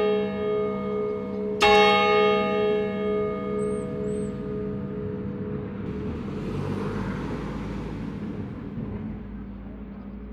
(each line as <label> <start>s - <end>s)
swinging of the bell in the bell tower 0.0s - 6.2s
church bells 0.0s - 8.5s
traffic sound of cars passing by 0.0s - 10.3s